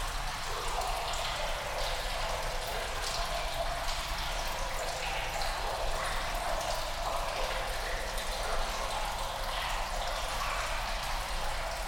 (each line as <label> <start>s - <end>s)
echoey sounds of water in a tunnel 0.0s - 11.8s